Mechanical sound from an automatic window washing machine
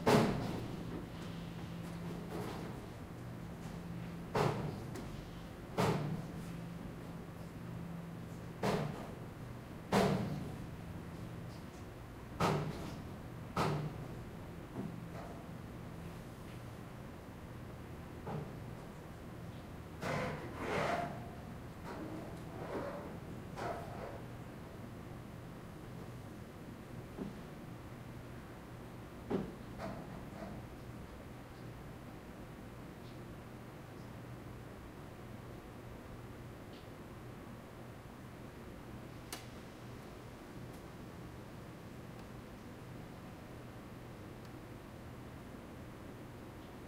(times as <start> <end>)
0.1 25.9